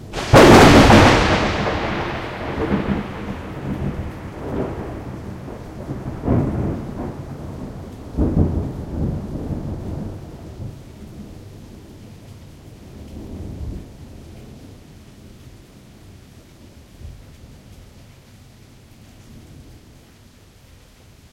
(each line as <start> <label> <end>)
0.0 Loud thunder clap 10.4